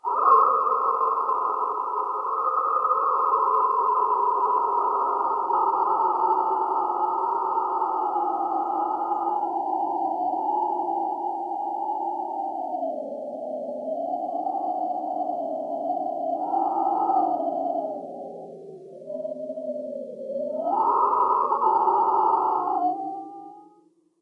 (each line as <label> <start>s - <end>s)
damped scream 20.1s - 23.8s